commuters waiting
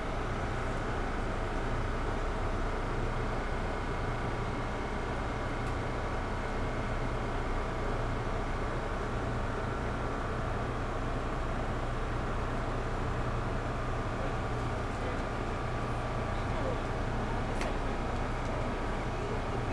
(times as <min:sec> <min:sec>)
0:13.7 0:19.7